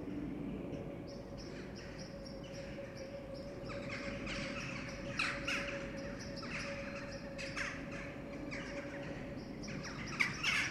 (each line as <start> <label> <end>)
1.4 Jackdaws gathering 10.7